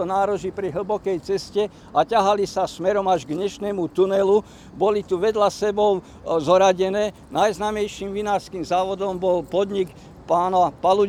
talk 0.0 - 11.0

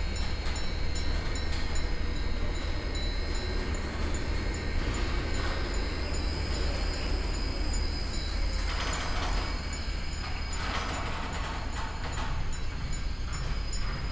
container crane at work 0.0 - 14.1

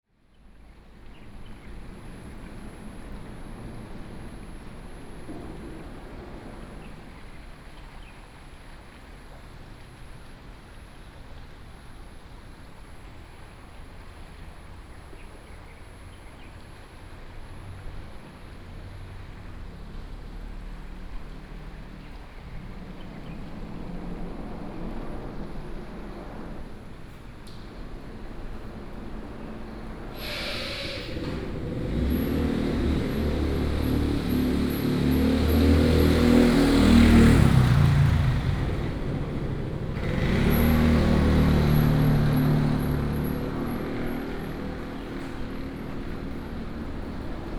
water 0.2 - 47.5
Traffic Sound 0.8 - 9.4
Traffic Sound 14.9 - 47.5

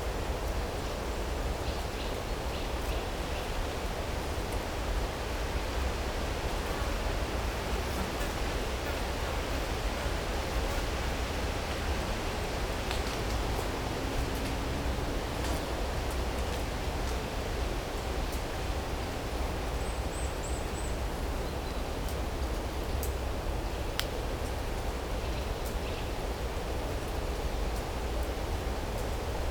trees and wind make a mesmerizing sound 0.0 - 29.5
traffic from the nearby road 4.2 - 19.7

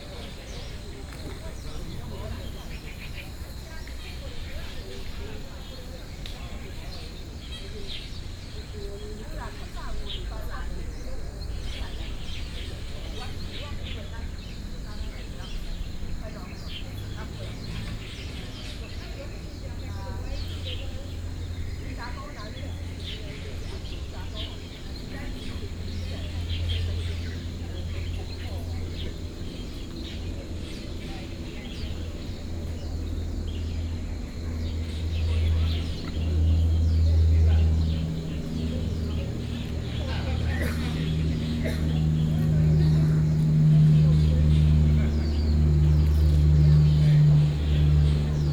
Bird calls 0.0 - 48.5
Insect sounds 0.0 - 48.5
Many elderly people 0.0 - 48.5
Aircraft flying through 30.4 - 48.5

